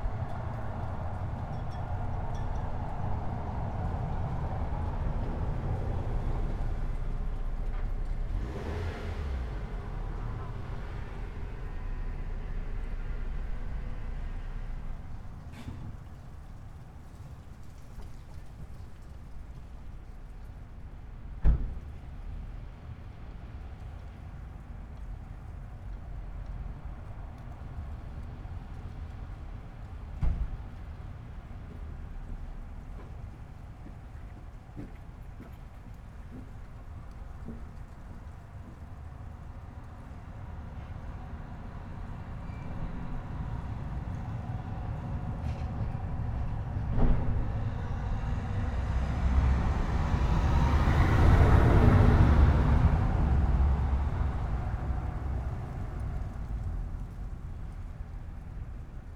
street ambience 0:00.0 - 0:59.1

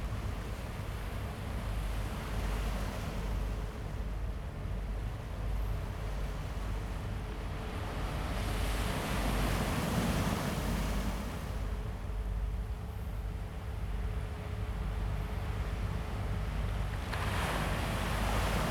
Yacht 0:00.0 - 0:18.7
waves 0:00.0 - 0:18.7

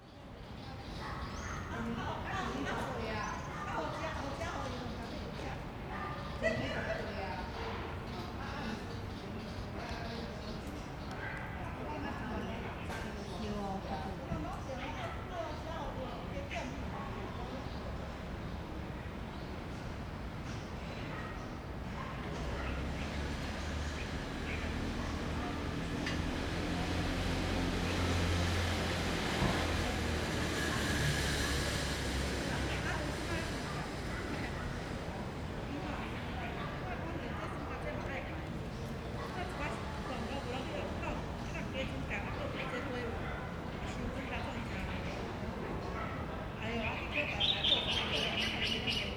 Traffic Sound 0:07.2 - 0:49.1
Birds singing 0:46.6 - 0:49.1

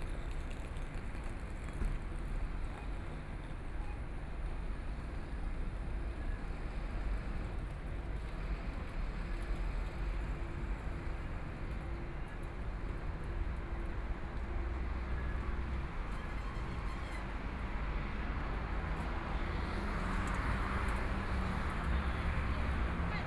Traffic Sound 0:08.7 - 0:23.2

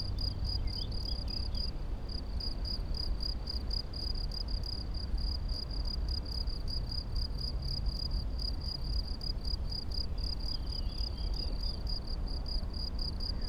crickets 0:00.0 - 0:13.4

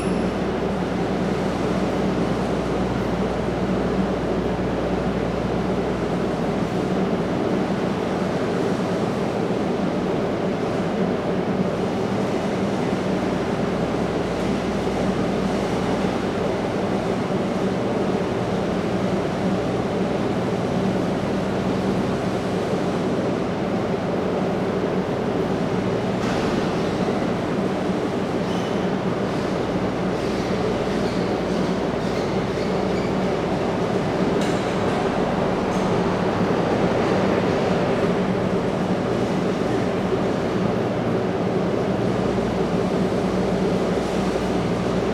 cableway cars arriving every few seconds 0:31.8 - 0:45.1

